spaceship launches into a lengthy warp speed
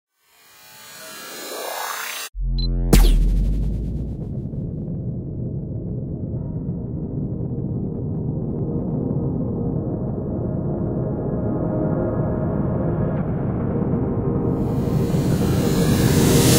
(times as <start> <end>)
1.0 4.9